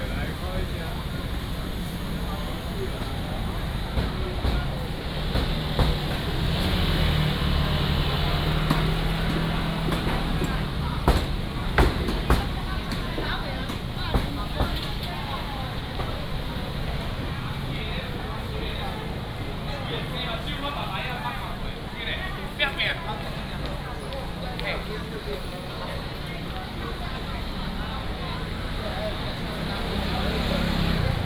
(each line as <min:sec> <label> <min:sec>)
0:00.0 many motorcycles 0:31.2